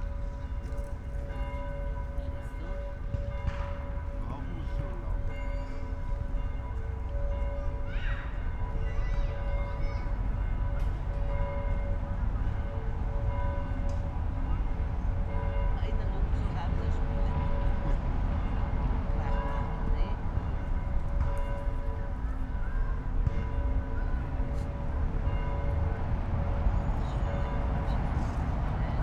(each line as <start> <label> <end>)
0.0 churchbells 29.0